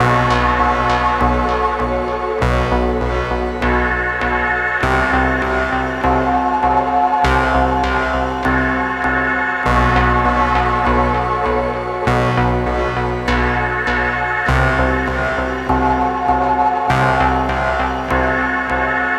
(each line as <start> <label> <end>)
0.0 analogue synths 19.1